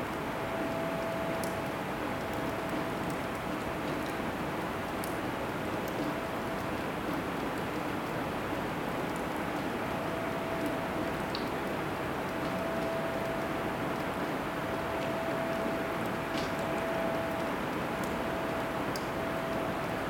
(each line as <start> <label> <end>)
0.0 Drone from the air conditionning system 20.0
14.7 water drops 19.6